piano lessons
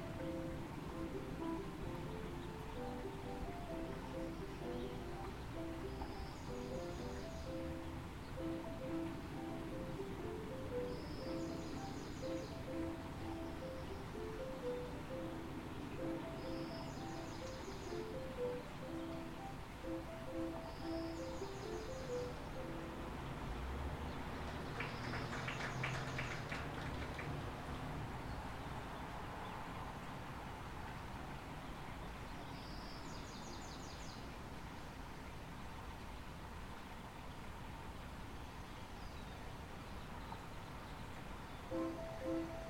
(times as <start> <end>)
0.0 23.6, 41.7 42.6